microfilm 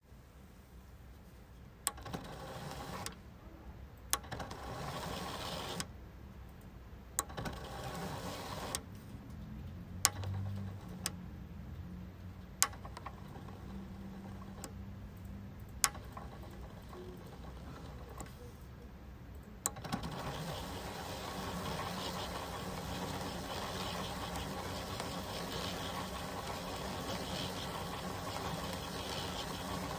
15.8s 18.7s, 19.6s 29.9s

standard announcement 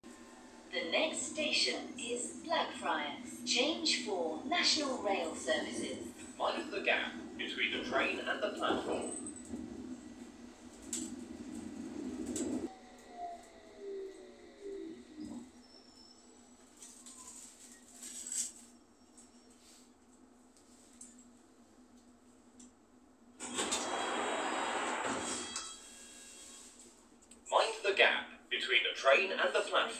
0.7s 9.2s

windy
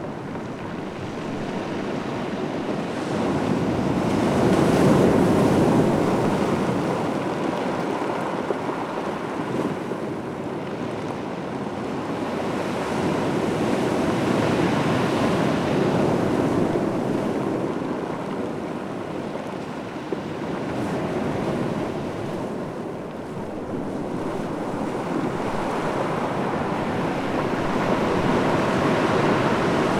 15.1s 29.9s

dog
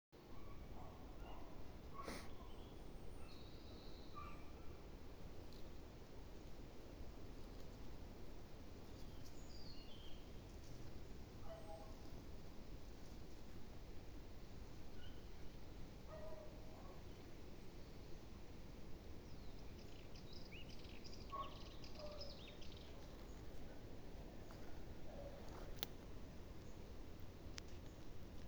0.4s 2.6s, 4.2s 4.8s, 11.4s 12.0s, 16.1s 17.0s, 21.3s 22.4s, 24.5s 25.8s

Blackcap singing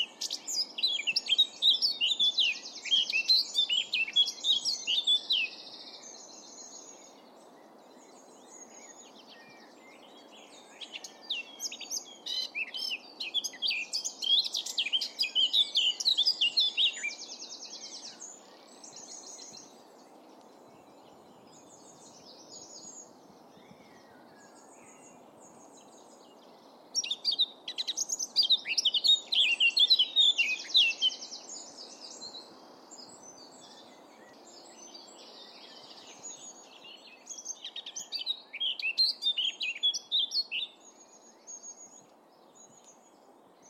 0.0s 5.7s, 10.7s 19.7s, 27.0s 32.4s, 33.0s 40.8s

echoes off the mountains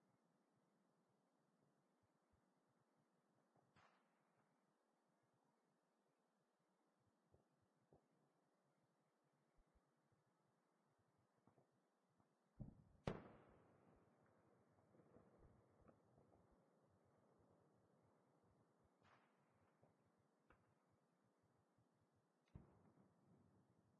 12.5s 23.9s

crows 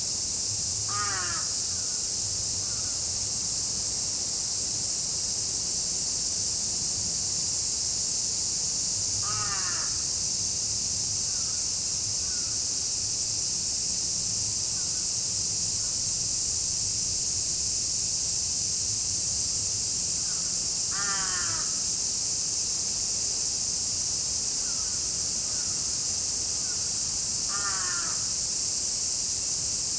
0.9s 2.0s, 9.2s 10.1s, 20.2s 21.8s, 24.6s 25.9s, 27.5s 28.3s

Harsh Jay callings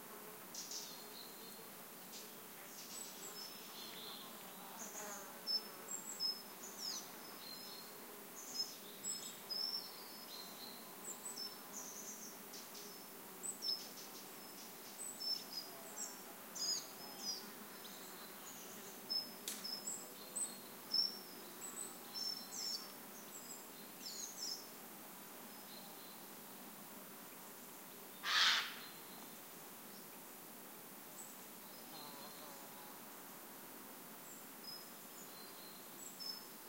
28.2s 28.8s

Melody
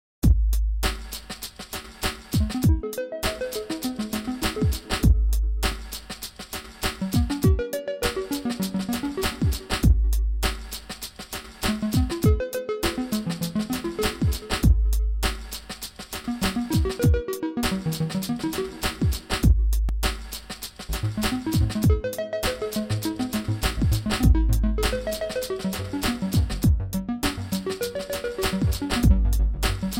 2.5s 5.6s, 7.0s 10.1s, 11.7s 15.2s, 16.3s 19.4s, 21.0s 29.9s

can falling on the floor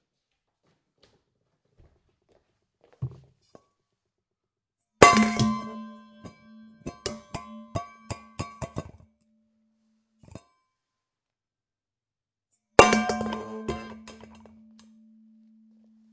12.8s 14.5s

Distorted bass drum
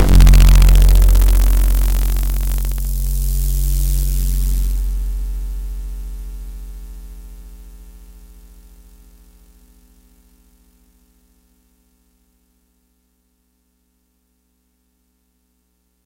0.0s 4.9s

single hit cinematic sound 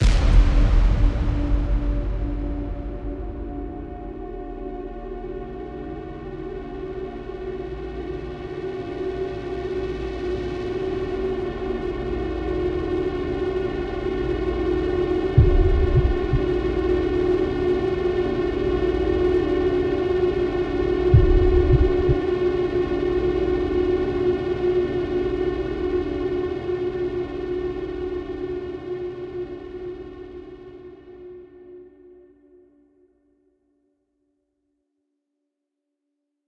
0.0s 4.7s, 15.4s 16.4s

